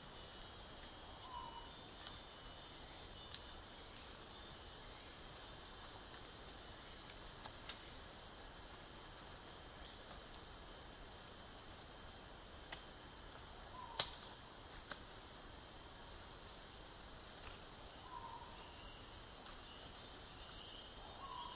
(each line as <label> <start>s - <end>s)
crickets 0.0s - 21.5s